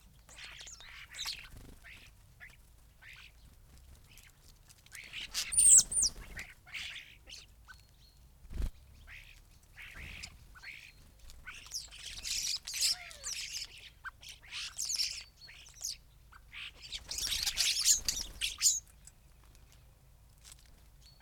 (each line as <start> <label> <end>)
0.0 background noise 21.2
0.1 starlings on bird feeders 21.2
0.2 blackbird 19.9
0.2 greenfinch 3.5
4.9 greenfinch 19.6
5.0 calls from collared dove 7.5
16.4 calls from collared dove 18.8